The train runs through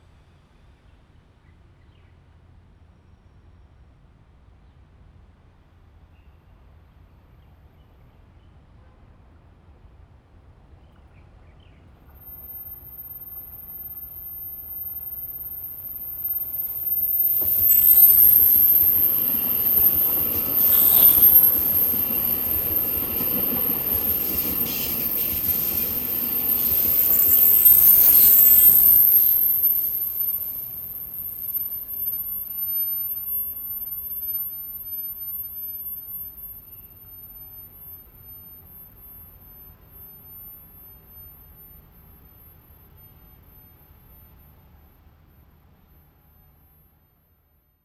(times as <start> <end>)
12.2 41.3